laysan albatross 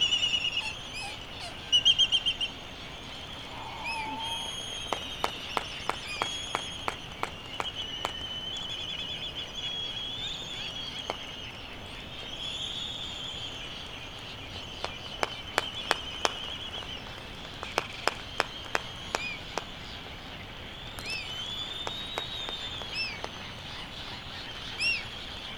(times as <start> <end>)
0.0 7.7